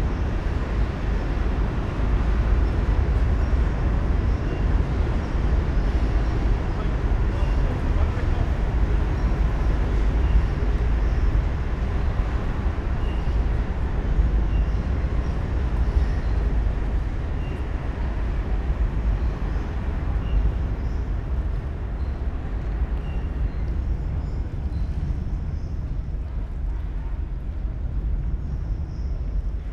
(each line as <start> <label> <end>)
0.0 trains passing 29.7